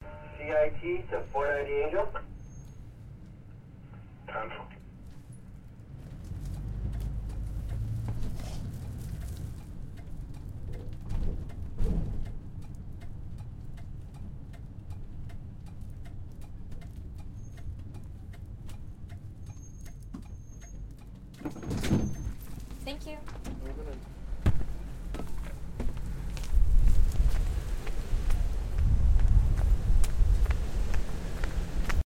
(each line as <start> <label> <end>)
0.0 university shuttle service 32.0
21.4 Door 22.4